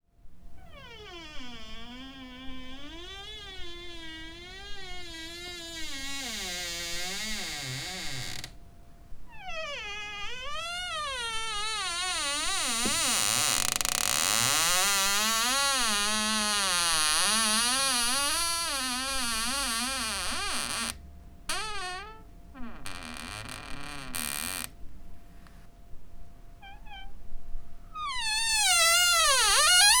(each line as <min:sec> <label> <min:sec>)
0:00.6 noisey squeaking wardrobe door hinge 0:08.6
0:09.4 noisey squeaking wardrobe door hinge 0:24.7
0:28.0 noisey squeaking wardrobe door hinge 0:30.0